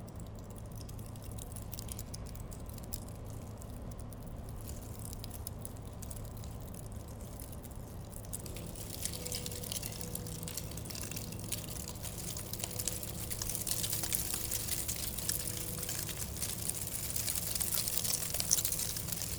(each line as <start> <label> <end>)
7.0 wind was blowing in vortex, leading dead leaves 19.3